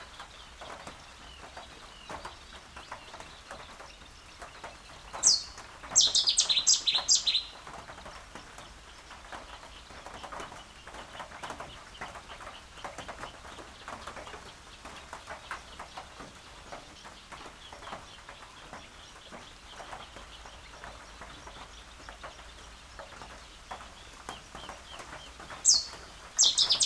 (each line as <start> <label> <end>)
0.0 rain falling on an open sided bird hide 26.8
0.1 reed warbler 14.8
4.4 little grebe 9.8
5.0 Cetti's warbler 7.6
16.5 reed warbler 26.8
17.0 little grebe 26.8
24.0 Cetti's warbler 26.8